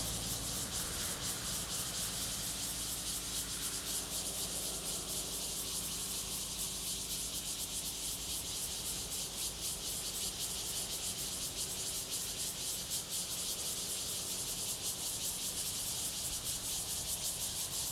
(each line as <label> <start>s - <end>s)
Cicadas 0.0s - 17.9s